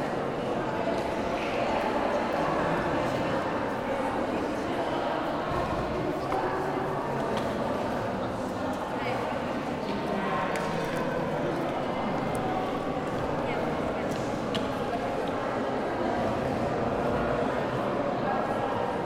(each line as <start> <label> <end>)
0.0 large group of people 19.0